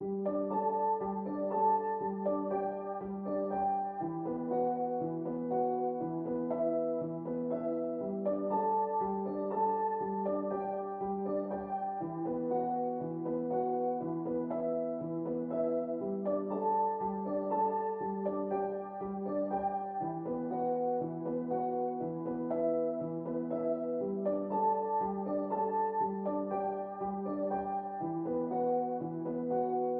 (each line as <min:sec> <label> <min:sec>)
0:00.0 piano 0:29.9